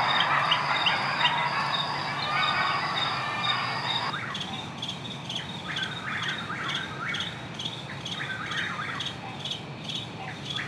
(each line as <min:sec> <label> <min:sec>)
0:00.0 Coyotes 0:04.8